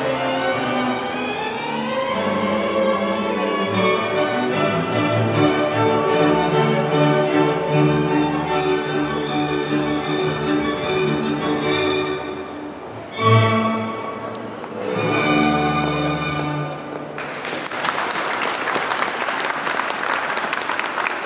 0.0s small orchestra performing 17.4s

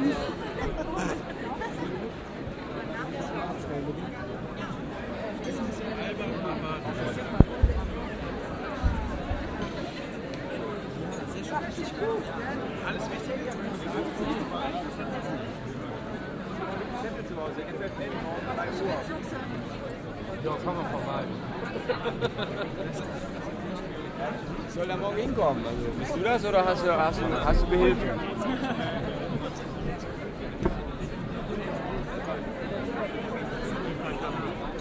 0.0s vernissagepublikum am buffet 34.8s

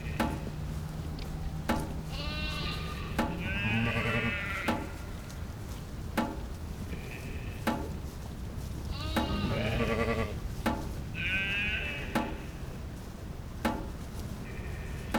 0.0s sheep 6.0s
6.8s sheep 8.0s
8.8s sheep 10.4s
11.1s sheep 13.0s
14.2s sheep 15.1s

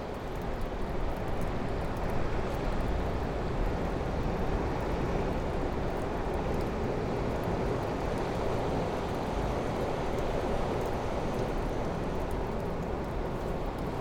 0.0s rain 14.0s
0.0s sea 14.0s

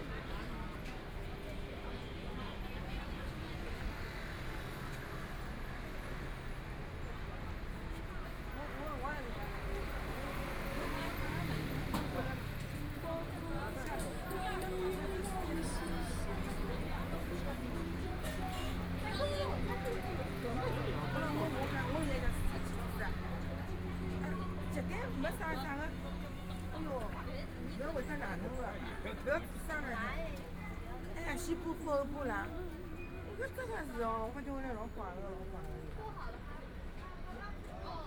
0.0s walking in the Street 38.0s

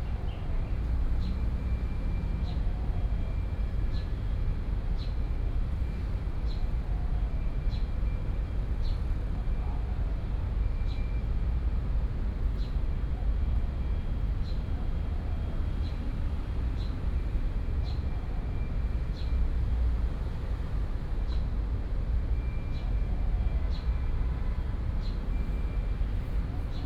11.2s Traffic noise 26.8s

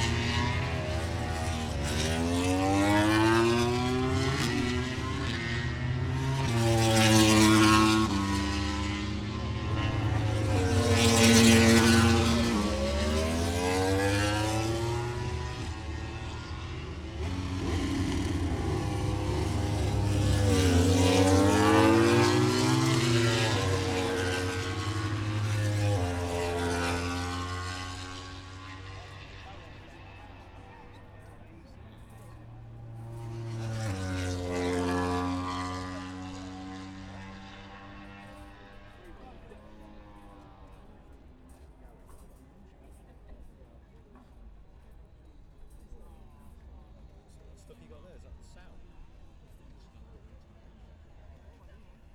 0.0s motorcycle grand prix 52.1s

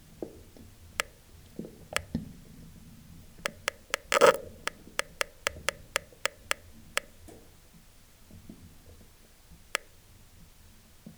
3.5s water inside the drilling 4.4s

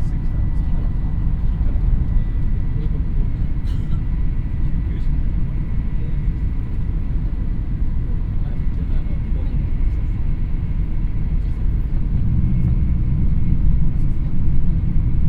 0.0s shinkhansen train 15.2s

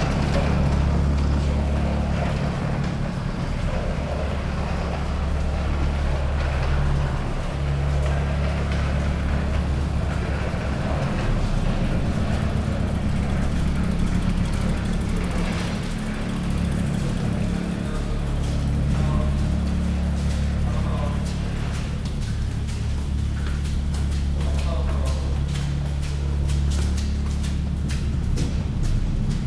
0.0s excavator operating above the ceiling of the underpass 29.4s
0.0s pedestrians streaming through the underpass 29.4s

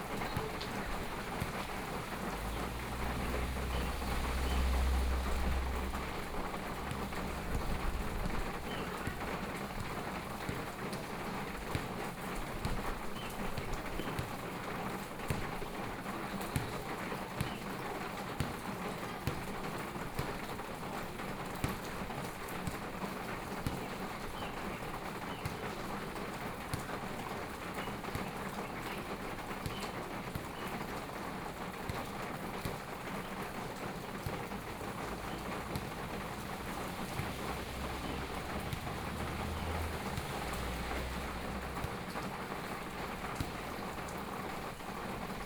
0.0s Traffic Sound 23.5s
0.0s Play basketball 45.4s
7.6s Birdsong 9.3s
13.1s Birdsong 14.2s
24.1s Birdsong 25.7s
33.5s Traffic Sound 45.4s

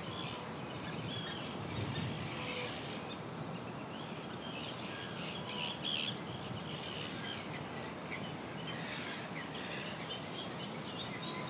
2.2s geese 3.0s

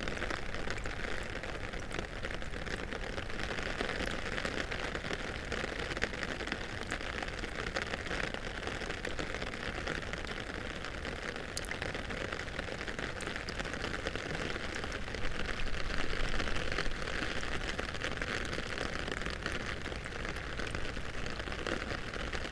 0.0s rain 22.5s

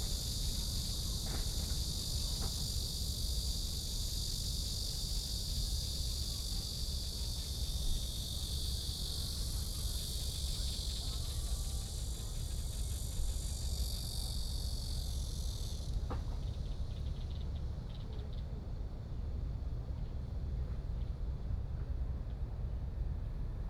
0.0s Cicadas sound 18.4s

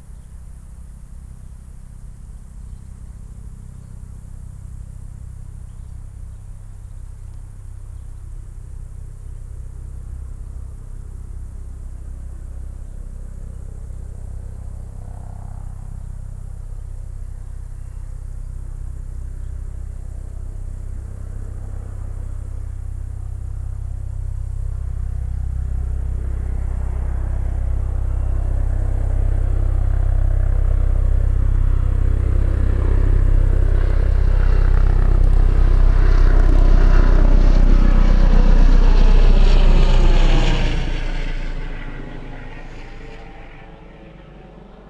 0.0s crickets in the high grass 44.8s
0.0s deep drone of an approaching helicopter 44.8s

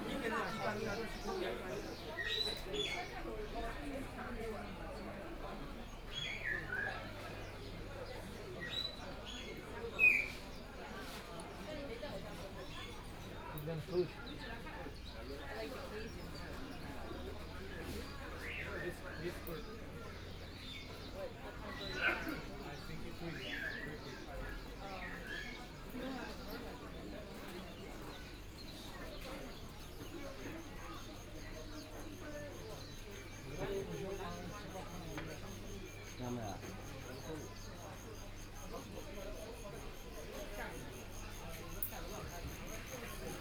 15.4s crickets 43.4s

